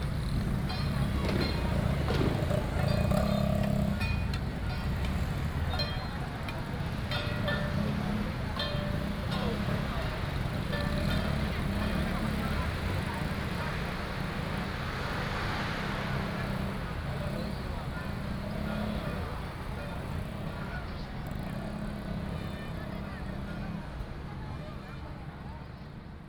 Traditional temple festivals 0.0 - 22.6

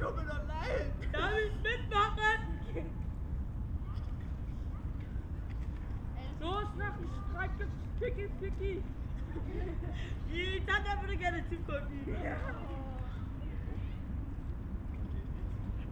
pedestrians passing-by 0.0 - 15.9

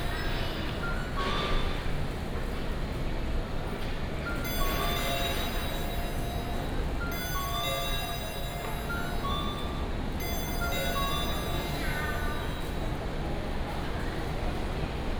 Convenience store sound 4.3 - 14.1
Ticket counter sound 4.5 - 13.3

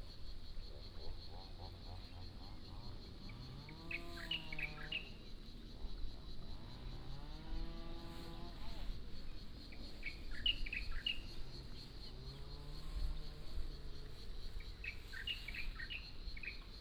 Birdsong 14.8 - 16.7

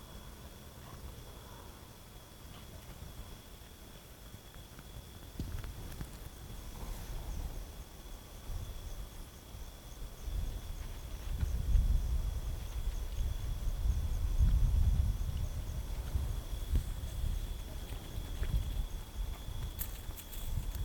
eventual dog 0.8 - 1.8
Unpaved gravel road 2.2 - 20.8

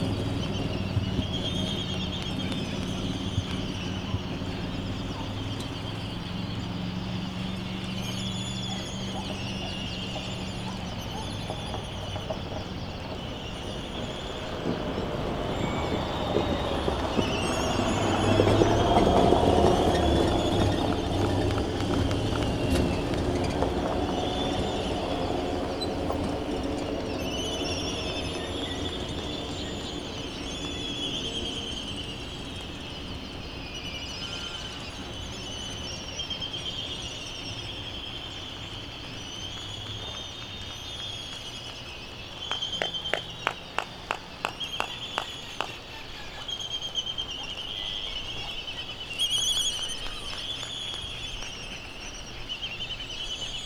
voices 0.0 - 36.2
canaries 0.0 - 53.6
traffic 0.0 - 53.6
white tern 42.5 - 52.4

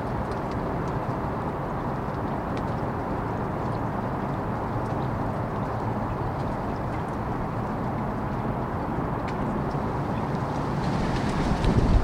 rain 0.0 - 12.0
Flag Pole during wind 4.6 - 12.0

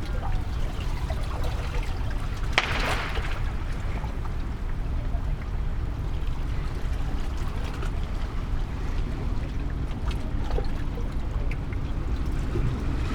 sea flux 2.2 - 10.4

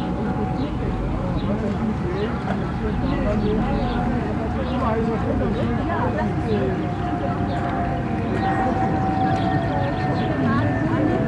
arrival of a boat 0.0 - 11.2
departure of the boat 0.0 - 11.2
passengers talking and entering the boat 0.0 - 11.2
plane crossing the lake 0.0 - 11.2

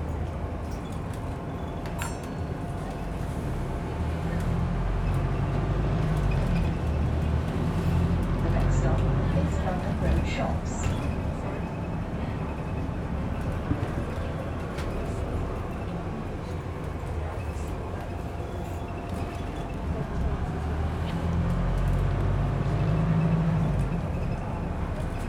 Bus driving into the city center 0.0 - 25.2

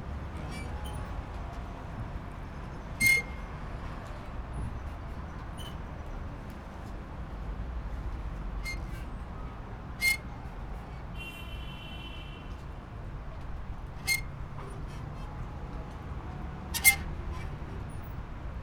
creaking as the boat bobs on gentle waves 12.6 - 18.6

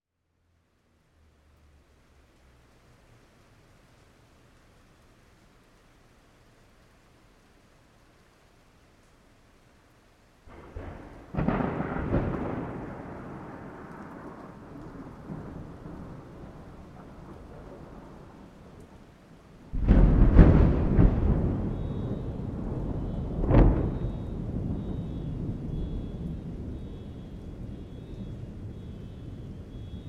Raining 0.2 - 30.0
Louder than usual thunder 10.5 - 18.8
Louder than usual thunder 19.7 - 30.0
distant car alarms 20.8 - 30.0

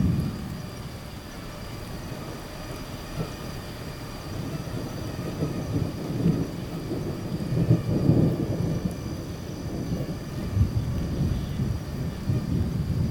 Mosquitoes 0.0 - 13.1
light rain 0.0 - 13.1
thunderstorms 0.0 - 13.1

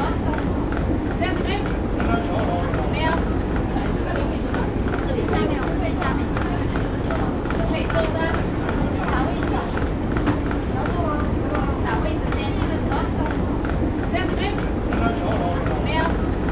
Express Boat 0.0 - 16.5

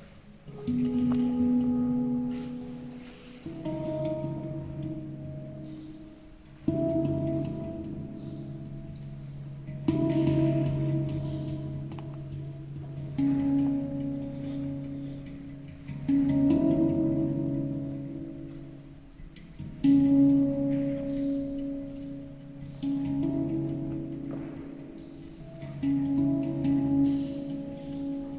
Handpan improvisation 0.0 - 28.3

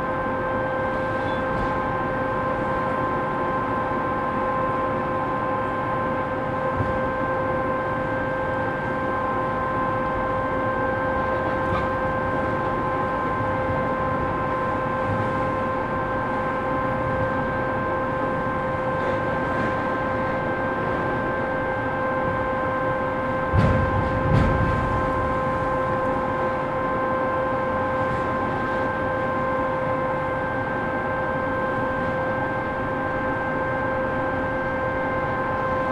noise of different excavators 11.1 - 12.8

